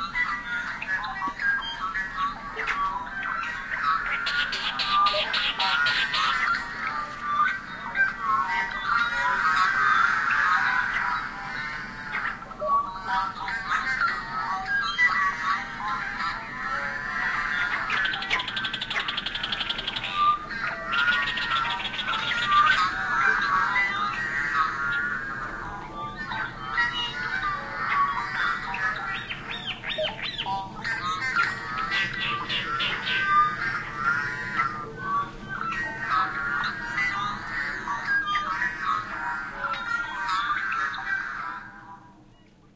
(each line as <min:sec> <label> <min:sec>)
0:00.0 blackbirds 0:42.7